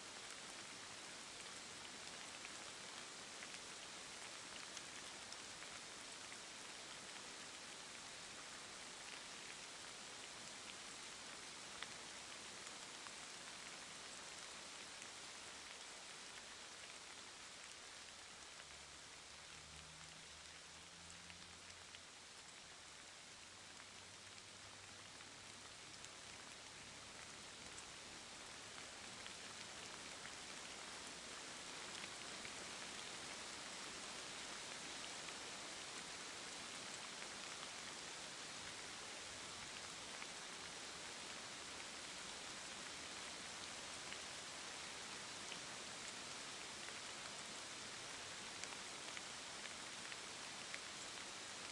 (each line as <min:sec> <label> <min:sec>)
0:00.0 rain 0:51.7